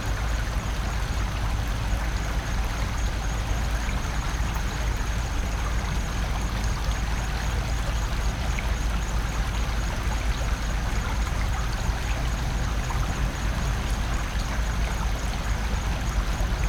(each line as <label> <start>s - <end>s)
Stream 0.0s - 16.6s